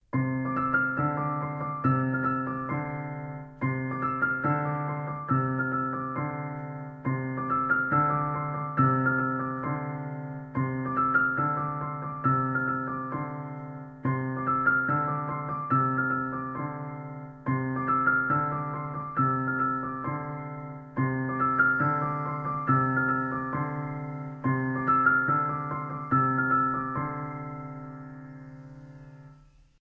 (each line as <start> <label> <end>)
0.0 piano 29.8